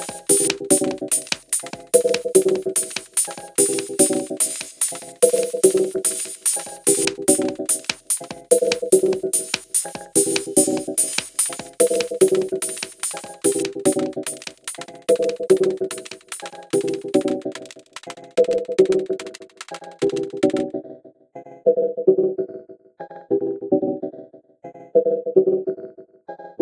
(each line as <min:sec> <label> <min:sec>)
0:00.0 phased delay hat 0:20.6